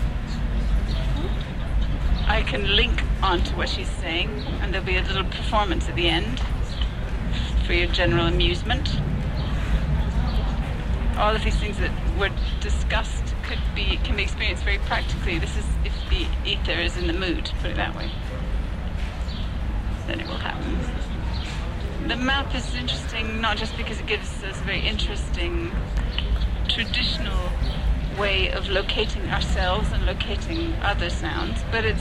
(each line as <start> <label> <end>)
0.0 talks 18.5
20.1 talks 32.0